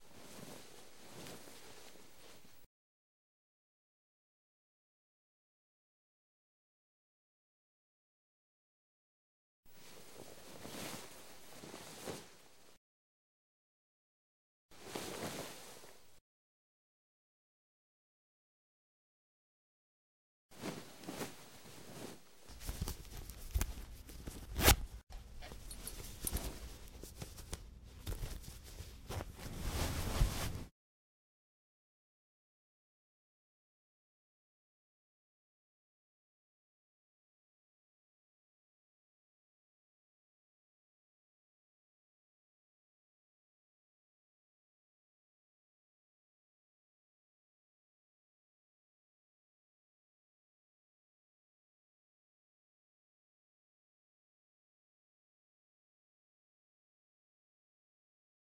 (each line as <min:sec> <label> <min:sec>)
0:00.0 undressing 0:02.6
0:09.8 undressing 0:12.8
0:14.8 undressing 0:16.1
0:20.6 undressing 0:30.7
0:24.3 zipper 0:26.9